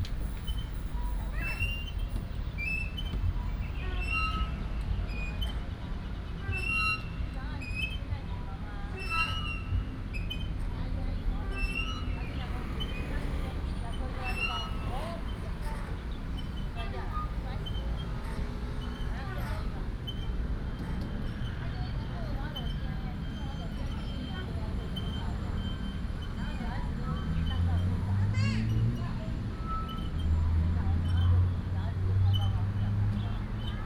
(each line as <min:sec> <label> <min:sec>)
0:09.9 Traffic Sound 0:33.8